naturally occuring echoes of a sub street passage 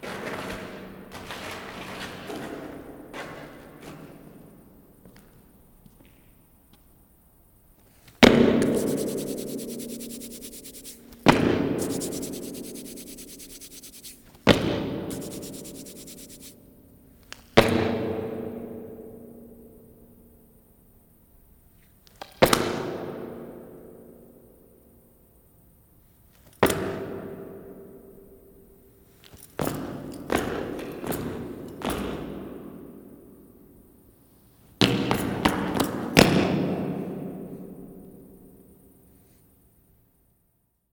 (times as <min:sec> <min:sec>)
0:00.0 0:08.7, 0:16.7 0:40.7